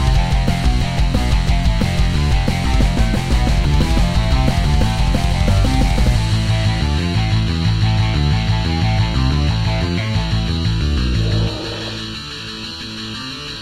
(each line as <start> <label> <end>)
0.0 guitar 13.6
10.8 synth 12.9